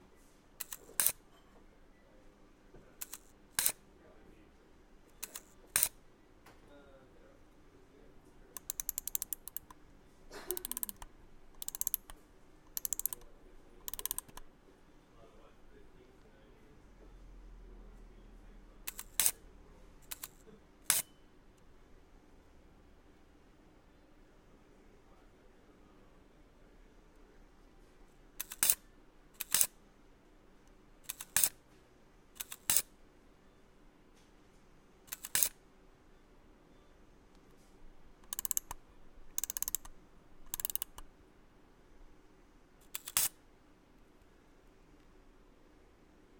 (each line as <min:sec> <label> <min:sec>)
0:00.0 background noise 0:46.3
0:00.6 camera shutter 0:01.2
0:03.0 camera shutter 0:03.8
0:05.2 camera shutter 0:06.0
0:18.9 camera shutter 0:19.4
0:28.4 camera shutter 0:28.8
0:29.4 camera shutter 0:29.7
0:31.1 camera shutter 0:31.6
0:32.4 camera shutter 0:32.9
0:35.1 camera shutter 0:35.6
0:42.9 camera shutter 0:43.4